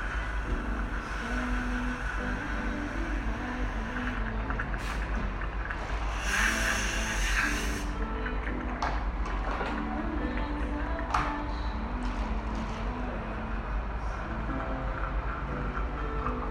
música de ambiente 0.0 - 16.5
Agua fluyendo 5.8 - 8.1
Utensilio dental 6.0 - 8.6

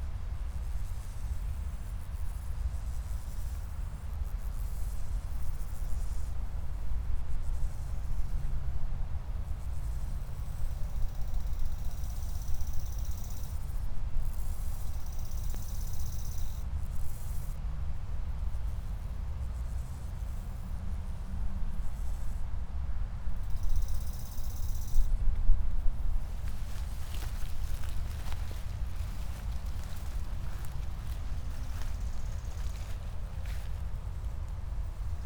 late crickets 0.0 - 35.2
grasshoppers 26.0 - 35.2
high grass 26.0 - 35.2

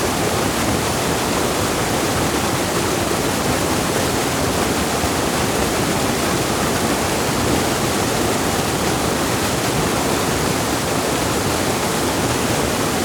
Black water gushing into the settling pool 0.0 - 13.0

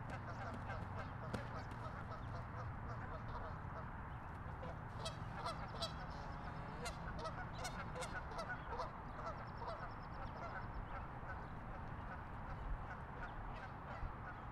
flock of geese honking and fighting on a pond 0.0 - 14.5

